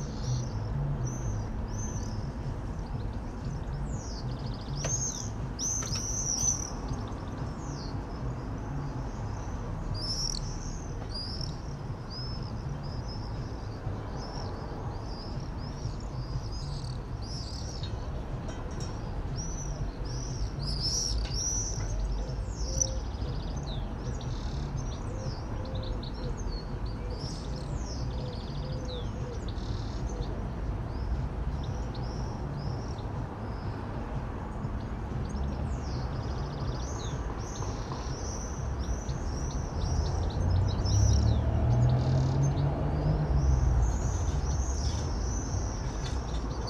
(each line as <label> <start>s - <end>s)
canary sings from a cage 0.0s - 46.6s
traffic 0.0s - 46.6s